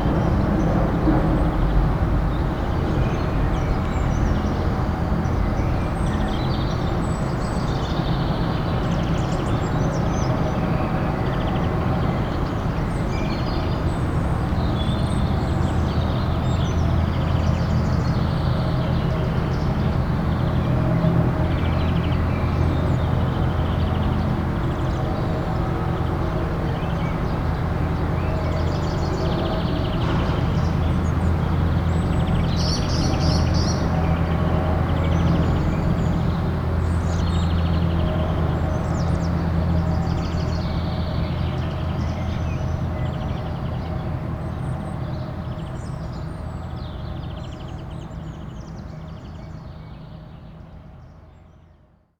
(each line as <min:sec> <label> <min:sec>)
0:00.0 excavators of a construction site 0:51.7
0:05.3 birds 0:51.8